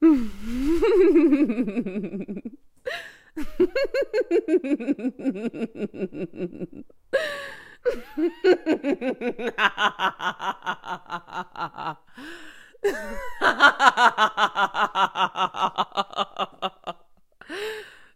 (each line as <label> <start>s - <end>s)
Evil Laugh/Cackle (female) 7.9s - 12.0s
Evil Laugh/Cackle (female) 12.8s - 17.1s